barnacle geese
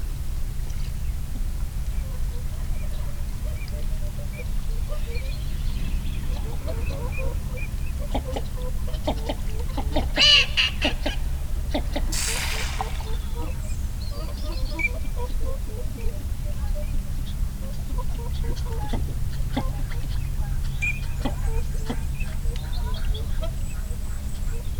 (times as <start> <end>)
6.3 13.3